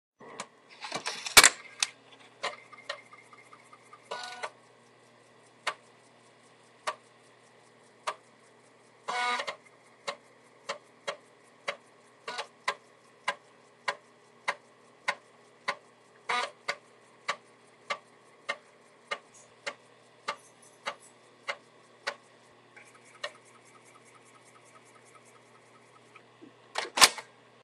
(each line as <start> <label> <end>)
0.7 Inserting, reading and ejecting computer floppy disk 3.4
9.1 Inserting, reading and ejecting computer floppy disk 9.6
26.8 Inserting, reading and ejecting computer floppy disk 27.3